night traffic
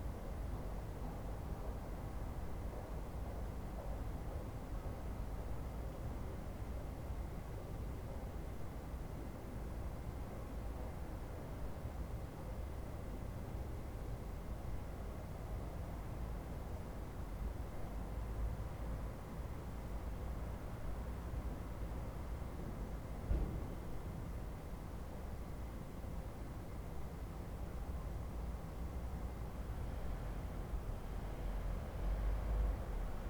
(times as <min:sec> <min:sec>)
0:28.4 0:33.2